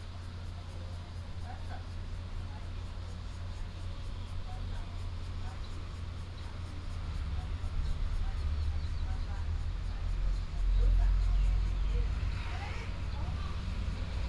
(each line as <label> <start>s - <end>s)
traffic sound 6.0s - 14.2s